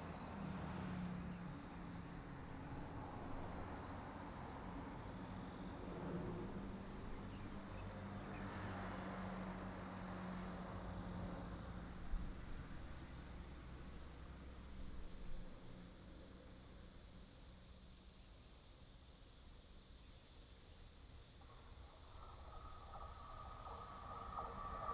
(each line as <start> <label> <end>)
0.0 Traffic sound 17.6
21.3 train runs through 24.9
21.4 Traffic sound 24.9